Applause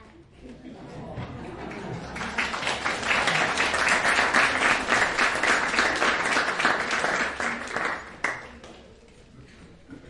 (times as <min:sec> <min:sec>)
0:01.6 0:08.9